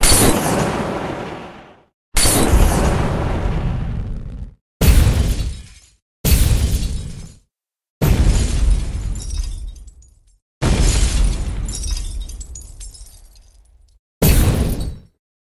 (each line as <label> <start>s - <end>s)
Fiery Explosion 0.0s - 5.5s
Fiery Explosion 8.0s - 9.2s
Fiery Explosion 10.6s - 11.7s